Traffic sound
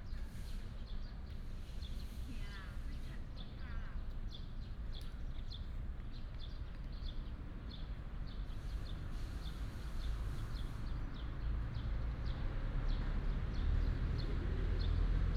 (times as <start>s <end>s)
5.8s 15.3s